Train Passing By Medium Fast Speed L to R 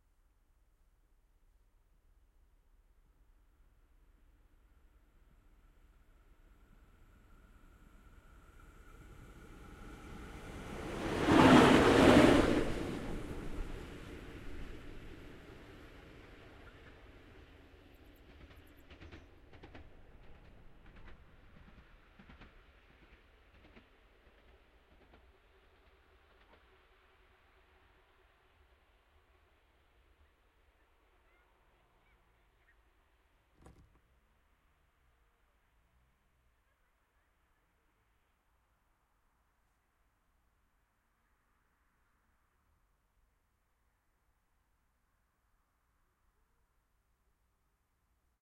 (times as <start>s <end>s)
3.4s 32.7s